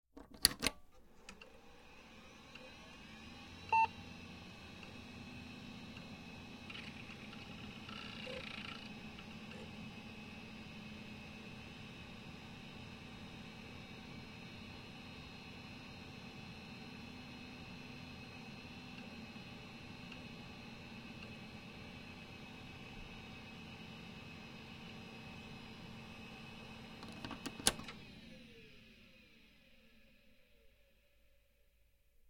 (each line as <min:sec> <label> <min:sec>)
0:01.2 old pc turn on boot turn off 0:30.9